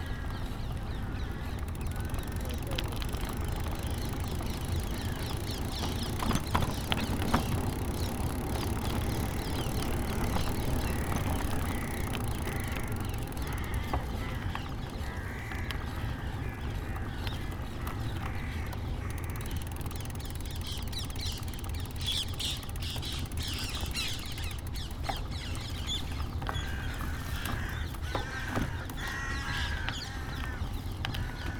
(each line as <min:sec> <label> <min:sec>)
0:00.0 crows 0:02.3
0:00.0 bicycle ride 0:31.5
0:00.9 parakeets 0:31.5
0:10.9 crows 0:19.6
0:26.5 crows 0:31.5